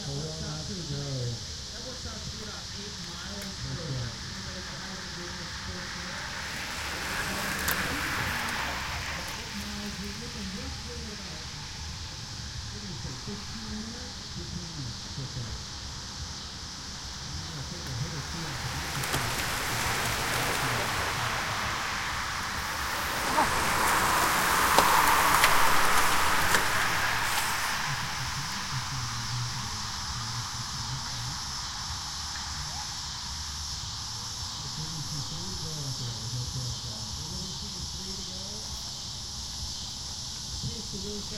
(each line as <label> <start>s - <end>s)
cicadas 0.0s - 41.3s
group pass-by with vocal utterance 17.7s - 30.6s